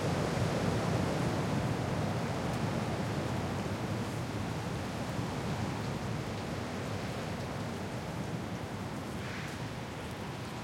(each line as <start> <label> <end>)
0.0 rain 10.6
0.0 wind 10.6